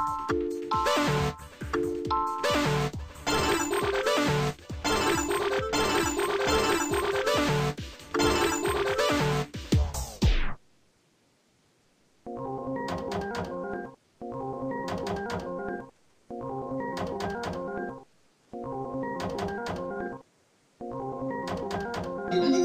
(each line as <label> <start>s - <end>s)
Spielautomaten Sound 22.2s - 22.6s